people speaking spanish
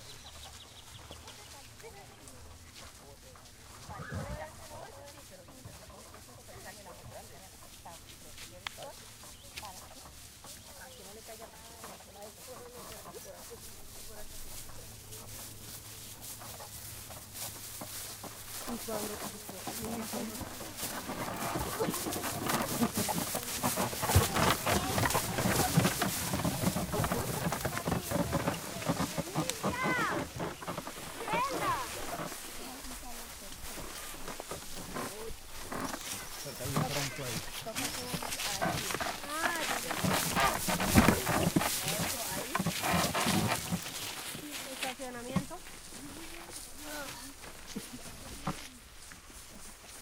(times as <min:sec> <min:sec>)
0:26.9 0:30.3, 0:31.1 0:33.5, 0:36.0 0:42.8, 0:44.3 0:48.8